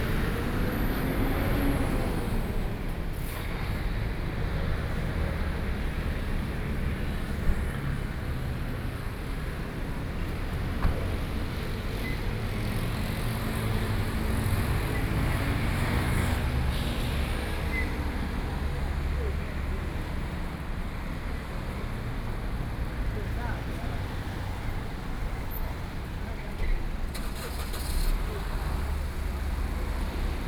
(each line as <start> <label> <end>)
0.0 traffic noise 30.4